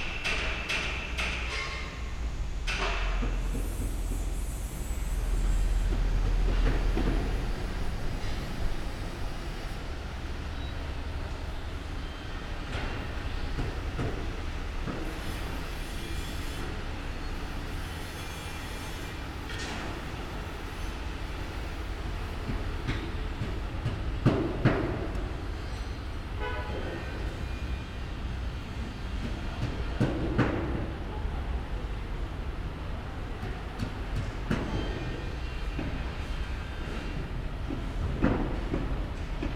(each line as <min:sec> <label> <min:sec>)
0:00.0 Working activities 0:08.8
0:33.2 Working activities 0:39.5